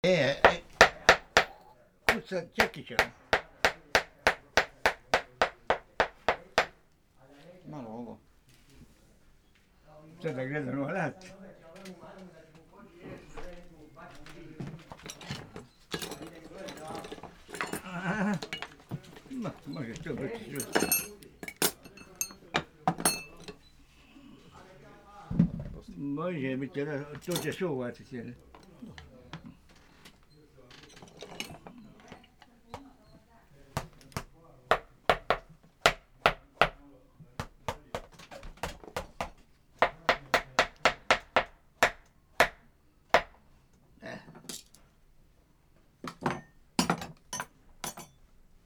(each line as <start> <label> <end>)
11.2 demonstrating his tools 23.7
26.5 demonstrating his tools 32.2